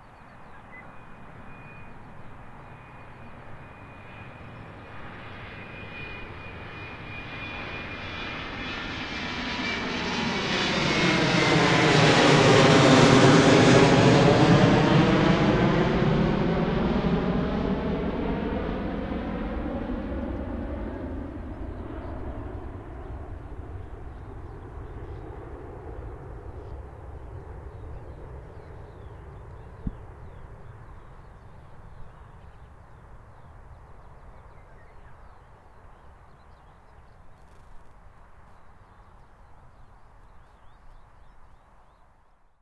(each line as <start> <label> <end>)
0.8 Airplain take-off 34.6